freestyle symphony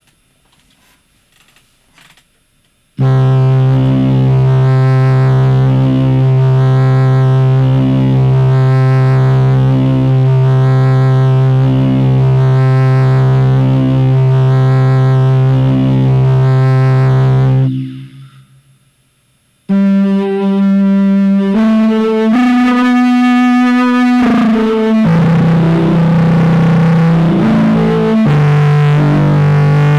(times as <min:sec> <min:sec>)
0:19.7 0:29.9